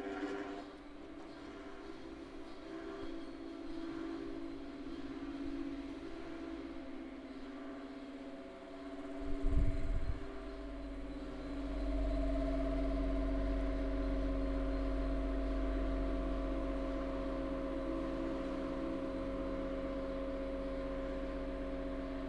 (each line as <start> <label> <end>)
0.0 oscillating fans 22.2